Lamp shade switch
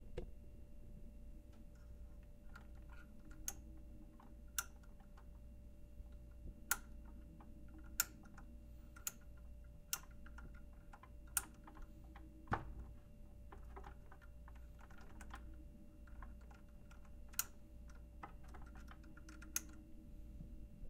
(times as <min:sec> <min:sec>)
0:02.5 0:05.3, 0:06.1 0:10.5